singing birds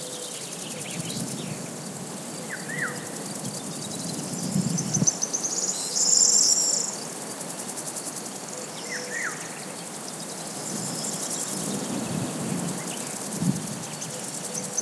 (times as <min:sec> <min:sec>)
0:00.0 0:07.2